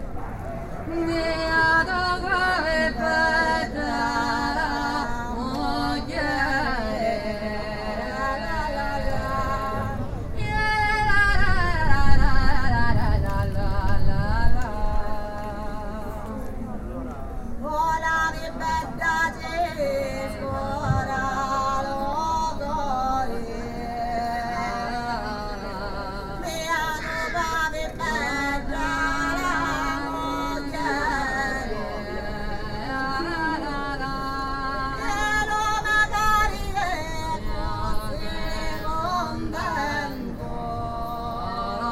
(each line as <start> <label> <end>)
0.0 antichi canti femminili siciliani 41.9